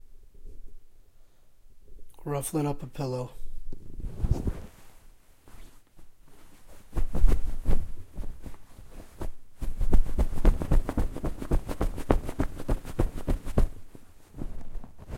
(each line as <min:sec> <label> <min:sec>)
0:03.9 Shuffling Pillow 0:15.1